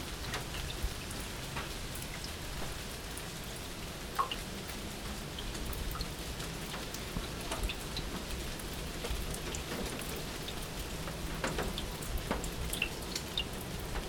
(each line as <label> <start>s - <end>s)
Rain drops on the roof of public toilet 0.0s - 14.0s